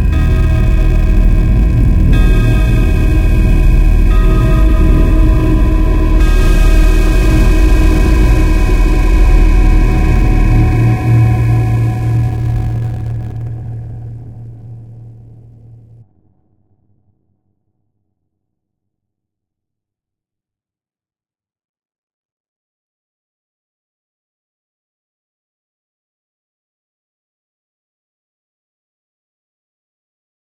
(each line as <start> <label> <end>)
0.0 grandfather clock 13.3